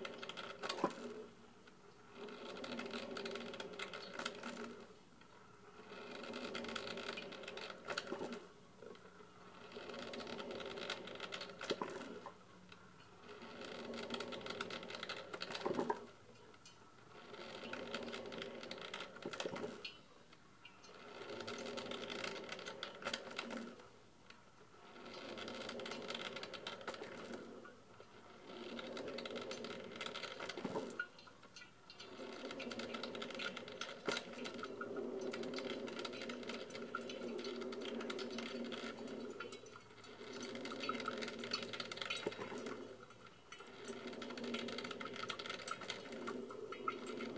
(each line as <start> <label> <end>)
0.0 Brewing coffee 47.3